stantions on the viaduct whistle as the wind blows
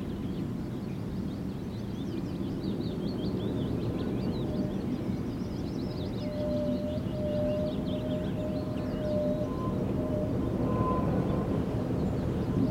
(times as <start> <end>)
3.9 12.7